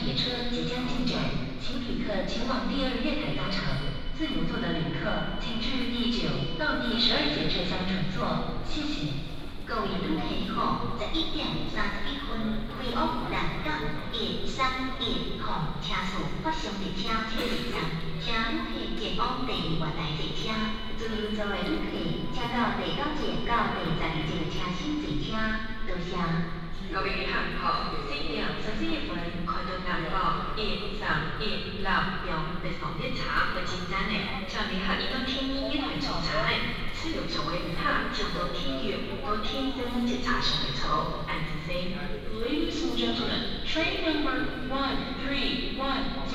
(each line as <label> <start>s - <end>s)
Station Message Broadcast 0.5s - 26.1s
Station Message Broadcast 32.4s - 43.7s